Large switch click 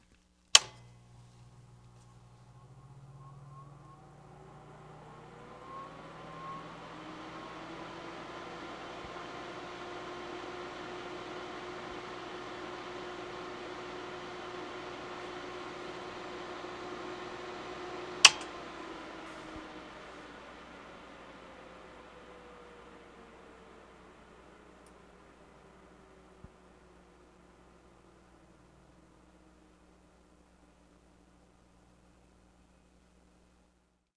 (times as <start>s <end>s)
0.5s 3.2s, 18.2s 18.6s